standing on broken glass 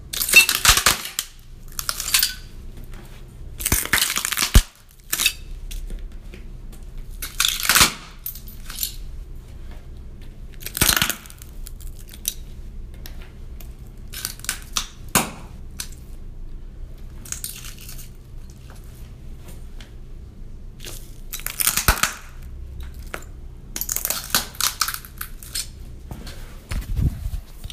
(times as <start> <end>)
0.2 2.5